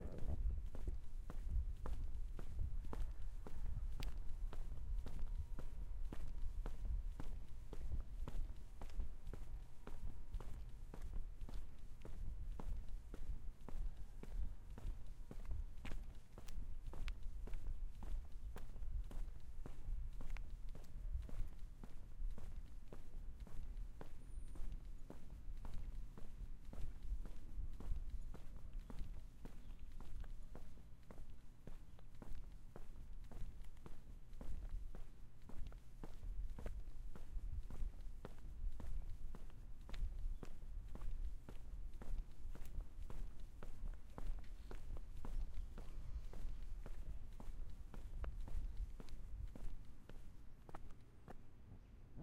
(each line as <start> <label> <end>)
0.0 Footsteps Outside Pavement01 51.9